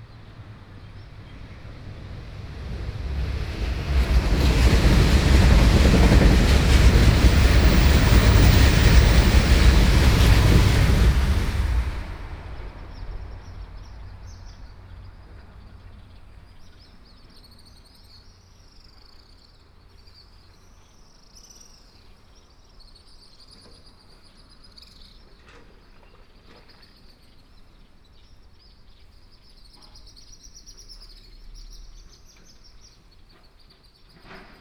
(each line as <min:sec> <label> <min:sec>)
0:00.0 Train passing 0:17.9